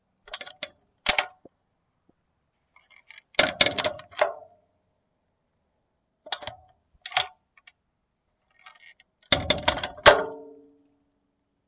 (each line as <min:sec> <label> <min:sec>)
0:03.0 Opening and closing an iron gate twice 0:04.6
0:08.8 Opening and closing an iron gate twice 0:10.7